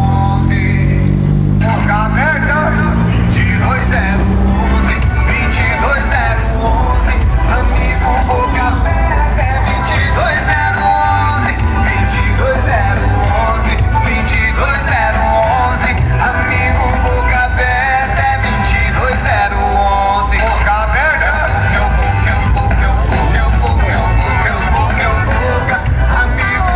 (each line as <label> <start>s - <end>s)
Automobiles 0.0s - 26.7s
Motorcycle 0.0s - 26.7s
Speaks 1.6s - 8.9s